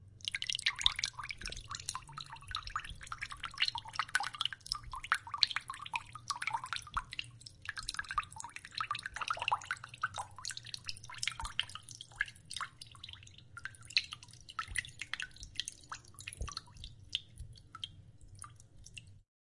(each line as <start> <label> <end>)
0.2 running water drops on water of a sink 19.2